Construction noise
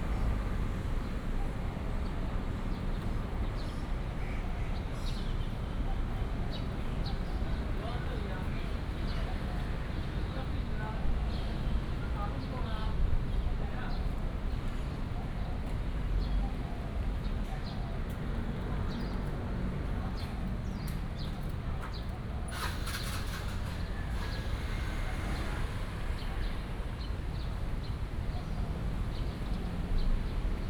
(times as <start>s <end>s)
22.5s 26.1s